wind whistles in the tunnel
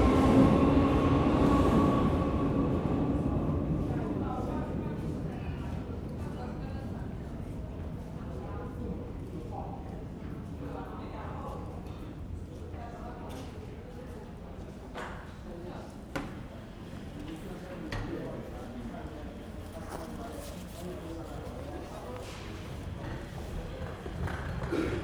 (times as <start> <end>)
0.0 11.0